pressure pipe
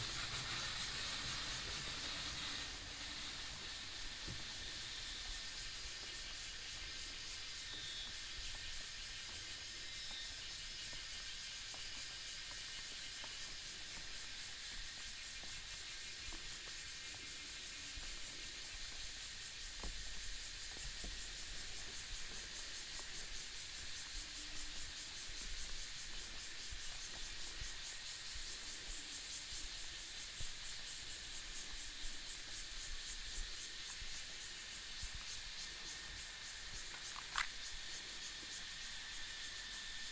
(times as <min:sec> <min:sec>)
0:00.0 0:05.3